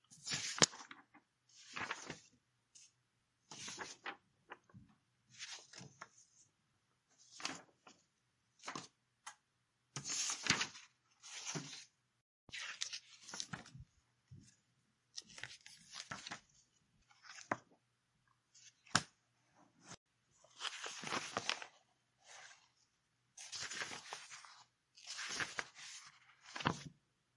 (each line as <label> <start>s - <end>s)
turning pages 0.1s - 2.9s
turning pages 3.5s - 6.4s
turning pages 7.3s - 8.0s
turning pages 8.6s - 9.0s
turning pages 10.0s - 11.9s
turning pages 12.5s - 14.5s
turning pages 15.1s - 17.7s
turning pages 18.6s - 19.2s
turning pages 19.8s - 22.8s
turning pages 23.4s - 27.0s